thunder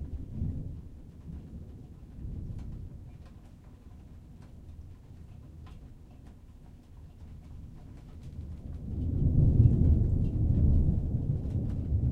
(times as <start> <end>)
0.0 3.1, 8.3 12.1